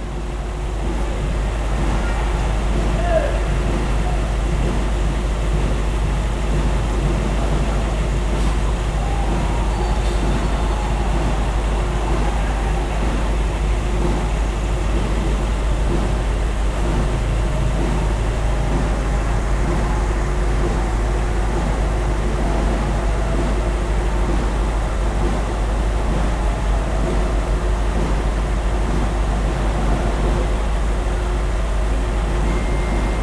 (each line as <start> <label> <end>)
0.0 engine 33.2